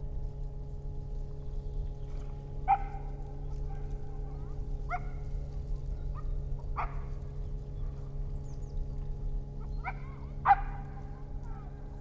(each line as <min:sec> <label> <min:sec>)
0:00.0 aircraft is heading south 0:12.0
0:00.0 motor boat is passing by 0:12.0